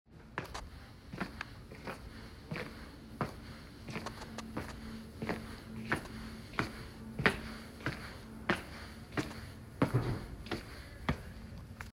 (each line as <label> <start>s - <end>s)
Walking Steps 0.2s - 11.9s